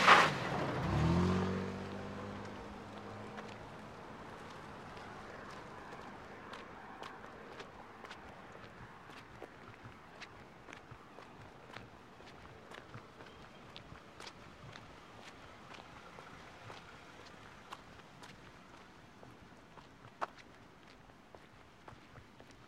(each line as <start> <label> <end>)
0.0 Wet Intersection car-bys 21.0